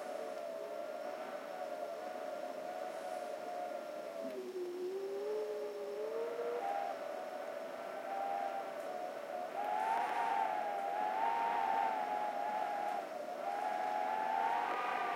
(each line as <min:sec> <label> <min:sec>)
0:00.0 wind whistling through a crack in the window 0:15.1